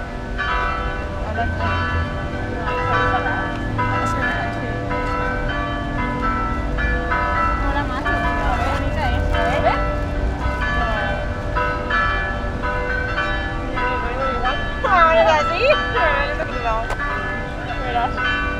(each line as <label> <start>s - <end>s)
Spanish tourists 0.0s - 18.5s
bells 0.0s - 18.5s